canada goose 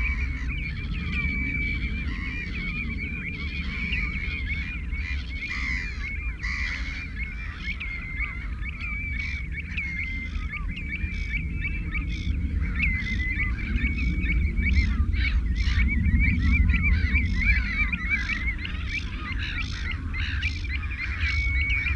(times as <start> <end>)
3.3 11.4